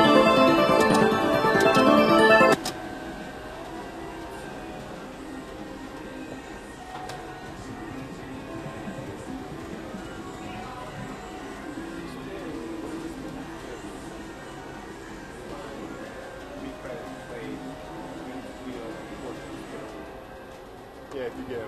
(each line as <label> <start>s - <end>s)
slot machine noises 0.0s - 2.6s
background casino music 0.0s - 3.2s